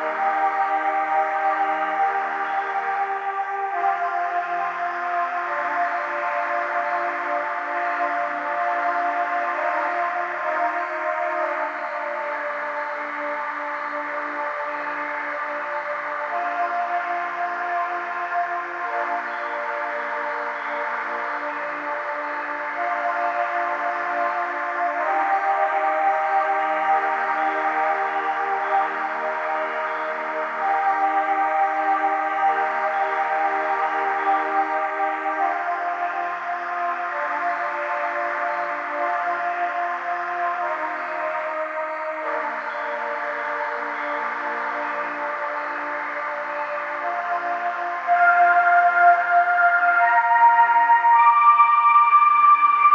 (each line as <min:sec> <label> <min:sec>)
0:00.0 slow notes of the hymn 0:52.9